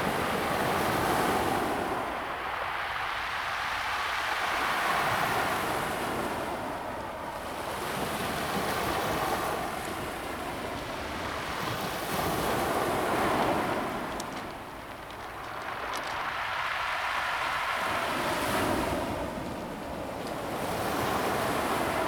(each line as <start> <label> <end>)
0.0 the waves 22.0